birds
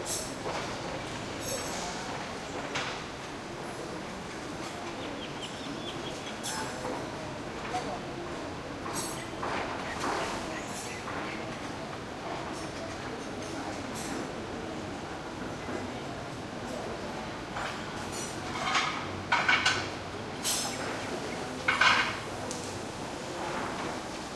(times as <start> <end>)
4.6 6.8